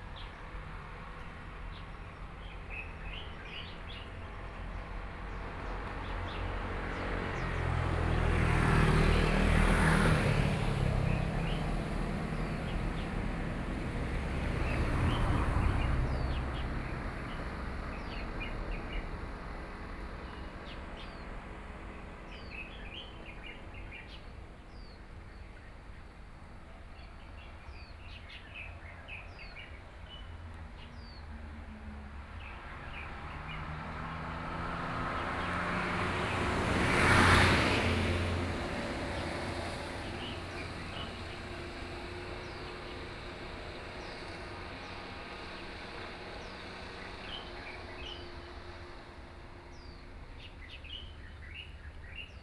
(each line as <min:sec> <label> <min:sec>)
0:00.0 Traffic Sound 0:52.4
0:08.4 Birdsong 0:31.6
0:32.3 Birdsong 0:52.4